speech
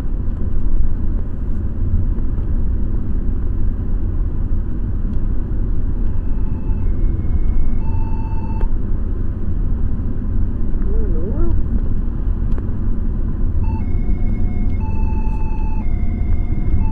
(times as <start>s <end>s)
10.8s 11.7s